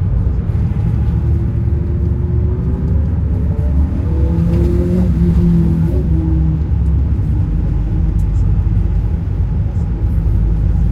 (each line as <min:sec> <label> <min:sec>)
0:00.0 bus 0:10.9